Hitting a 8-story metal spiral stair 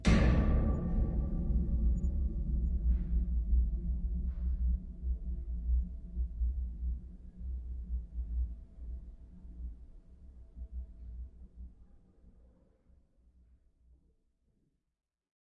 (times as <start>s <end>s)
0.0s 4.3s